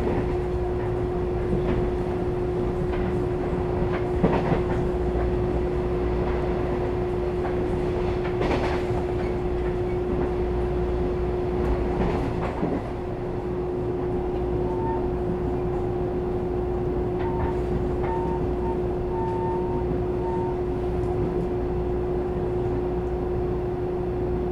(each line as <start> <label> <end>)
0.0 Train crossing 24.5
0.0 Trains traveling 24.5
13.3 Train broadcast message 21.5